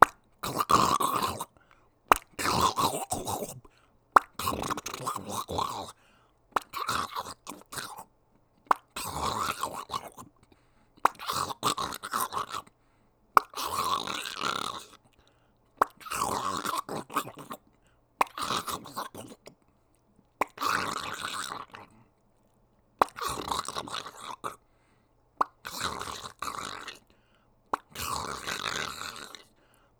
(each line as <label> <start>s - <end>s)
Pops 0.0s - 1.4s
Pops 2.1s - 3.6s
Pops 4.2s - 5.4s
Pops 23.0s - 23.3s
Pops 25.4s - 26.3s